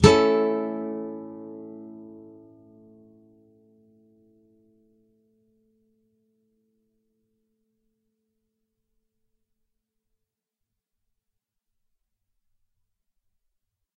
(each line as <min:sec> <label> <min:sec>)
0:00.0 nylon guitar 0:05.5